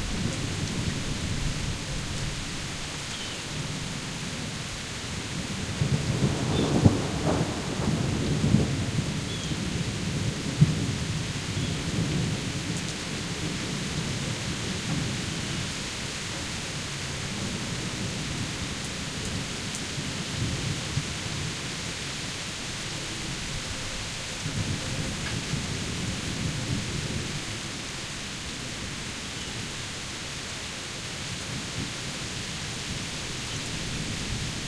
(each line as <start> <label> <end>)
0.0 sweeping rainfall in the grass and trees 34.6
0.0 water through the gutters and downspouts 34.6
0.0 wind 34.6
5.7 thunder 12.7